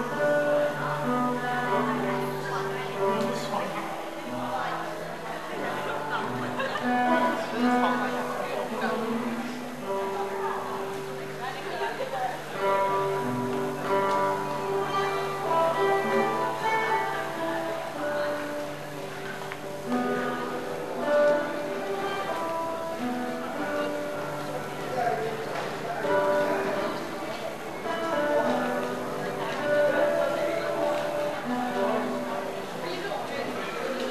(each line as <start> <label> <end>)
0.0 Subway guitarist 34.1